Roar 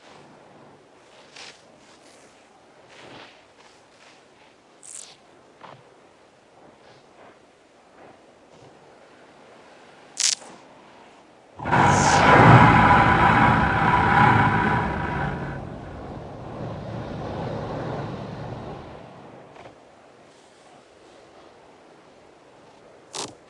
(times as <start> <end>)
11.6 19.0